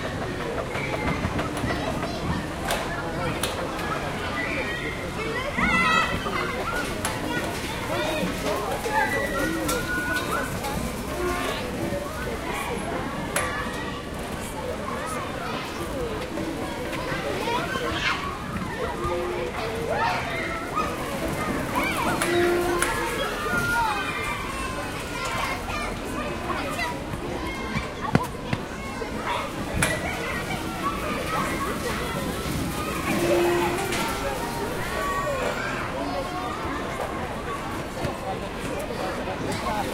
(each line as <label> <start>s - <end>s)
children playing 0.0s - 39.9s